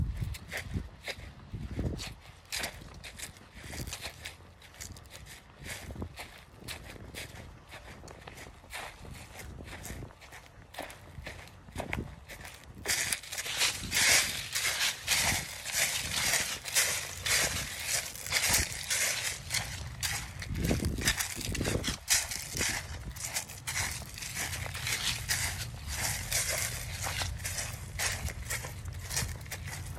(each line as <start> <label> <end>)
0.0 a little wind 29.9
0.0 walking through the leaves 29.9